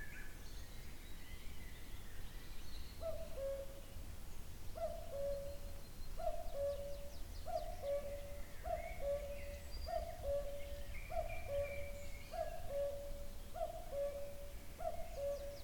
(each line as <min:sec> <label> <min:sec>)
0:00.0 Cuckoo very nearby in a tree 0:04.0
0:04.7 Cuckoo very nearby in a tree 0:15.6